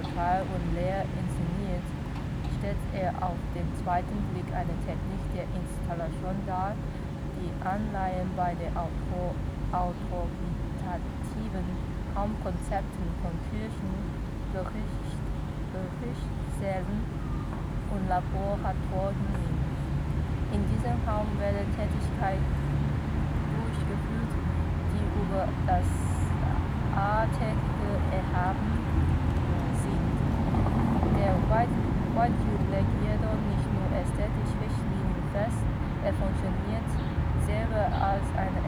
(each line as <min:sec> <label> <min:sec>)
0:00.0 reading group 0:38.6